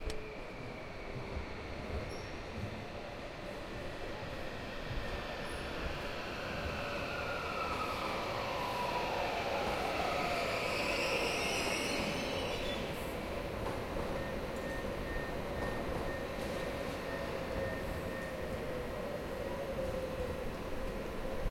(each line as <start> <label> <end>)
0.0 Train Arriving 21.5